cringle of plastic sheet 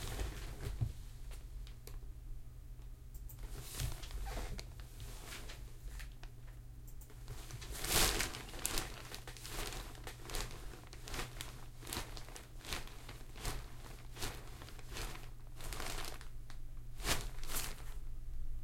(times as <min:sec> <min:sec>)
0:07.4 0:16.3, 0:17.0 0:18.0